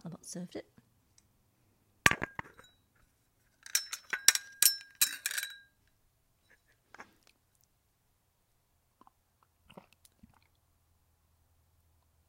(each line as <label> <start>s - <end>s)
bone china tea service clinking 3.6s - 5.7s